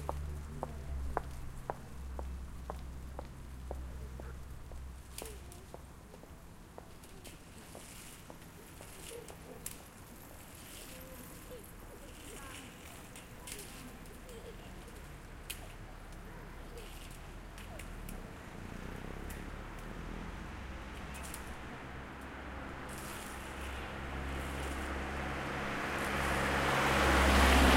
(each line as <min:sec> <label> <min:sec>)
0:00.0 traffic 0:27.7
0:05.1 people 0:20.3